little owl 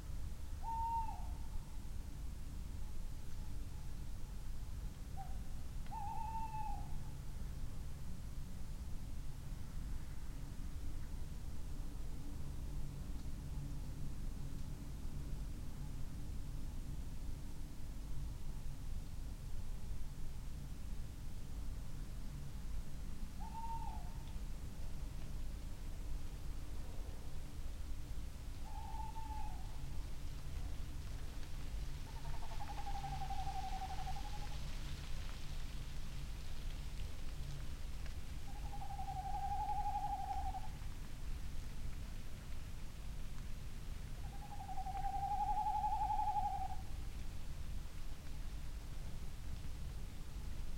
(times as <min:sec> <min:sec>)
0:00.6 0:01.6, 0:05.2 0:07.0, 0:23.4 0:24.3, 0:28.6 0:29.8, 0:32.1 0:34.6, 0:38.4 0:40.8, 0:44.2 0:46.9